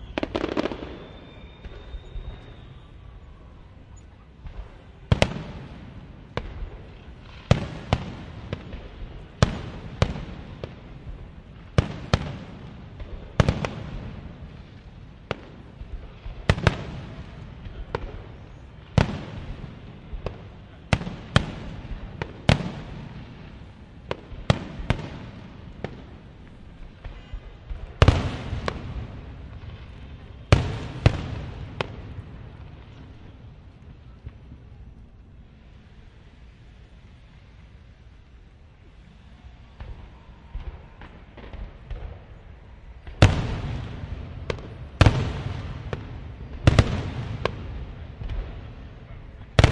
fireworks big, medium various 0.0 - 49.7

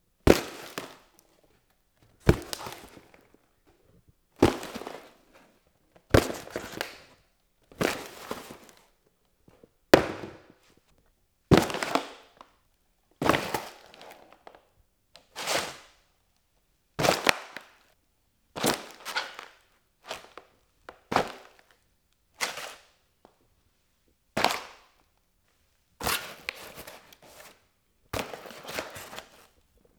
Medium Cardboard Impacts 2.2 - 3.2

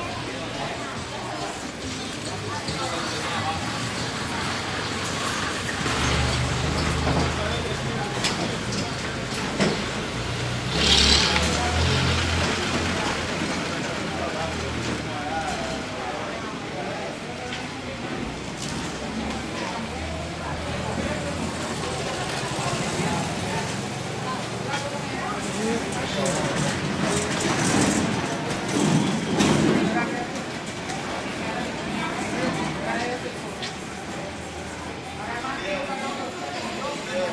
cars 0.0 - 37.3
people 0.0 - 37.3
carts 0.2 - 37.3
revving the motor 10.5 - 12.7

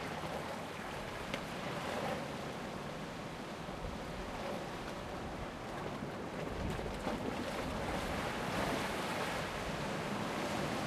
boat 0.0 - 10.8
wind 0.0 - 10.8
waves crashing on the rocks 7.3 - 10.8

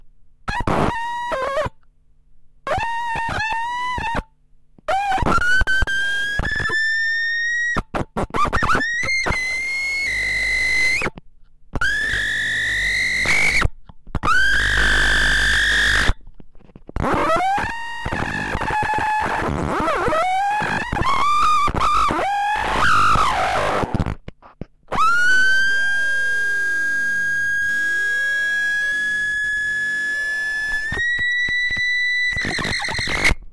howling cracklebox 11.8 - 24.2

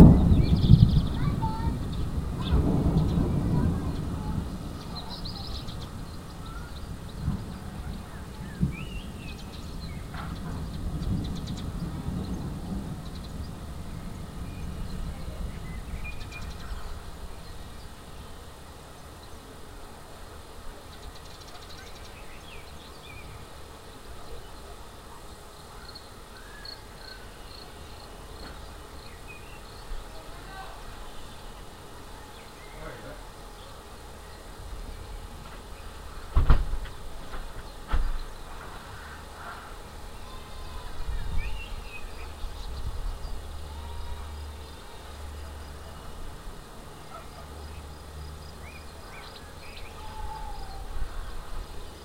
thunder 0.0 - 17.3
rain 0.0 - 52.0

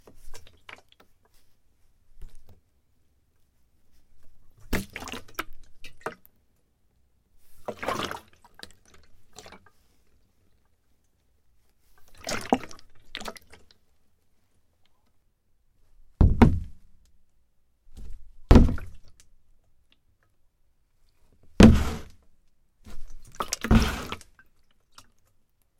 plastic gas container holding liquid slosh 7.6 - 9.8
plastic gas container holding liquid slosh 12.0 - 13.7
plastic gas container holding liquid slosh 21.6 - 22.2
plastic gas container holding liquid slosh 22.9 - 25.1

